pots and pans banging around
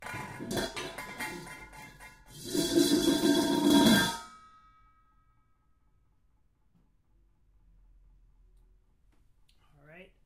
0:00.0 0:04.4

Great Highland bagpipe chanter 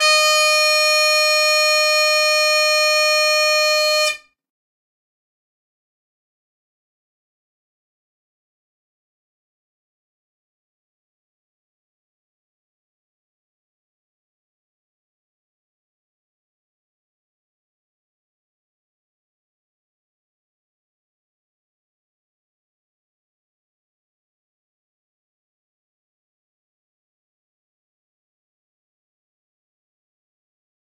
0:00.0 0:04.3

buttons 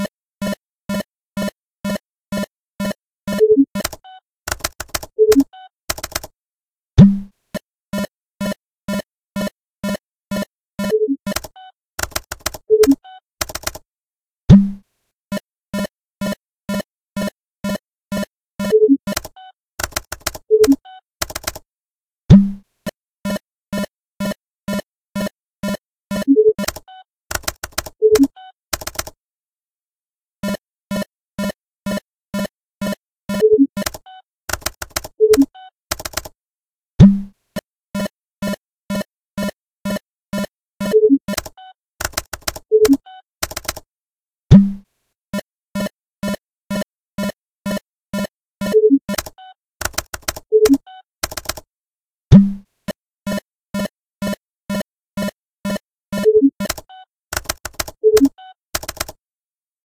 0:22.3 0:22.6, 0:52.3 0:52.6, 0:53.3 0:59.2

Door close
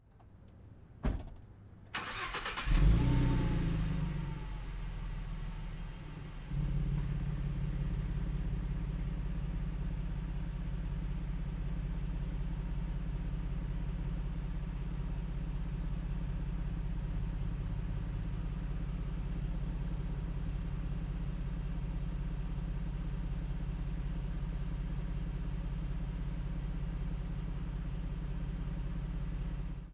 0:01.0 0:01.6

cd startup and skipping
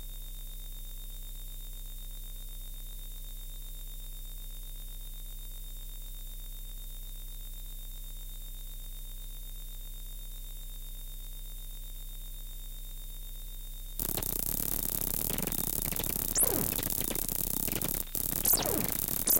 0:14.0 0:19.3

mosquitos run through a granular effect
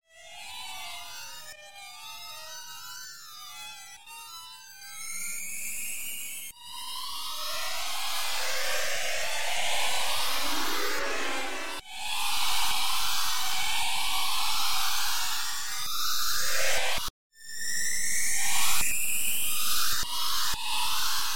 0:07.0 0:16.8

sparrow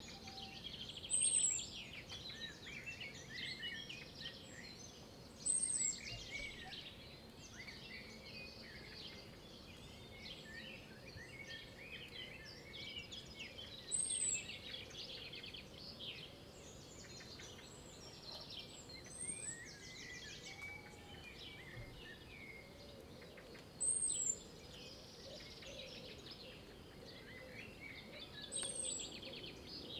0:16.8 0:29.9

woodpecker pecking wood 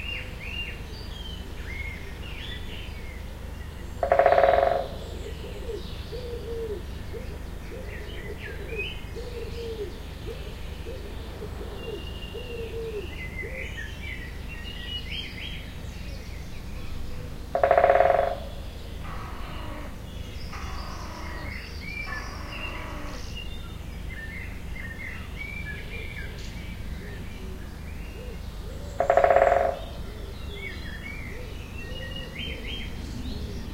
0:17.6 0:18.4, 0:29.0 0:29.8

